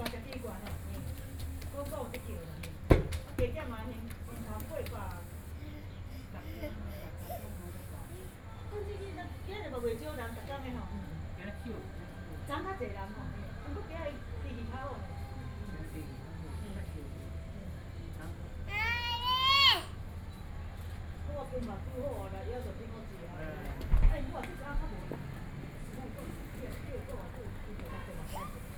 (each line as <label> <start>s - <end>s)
Children running play 0.0s - 3.3s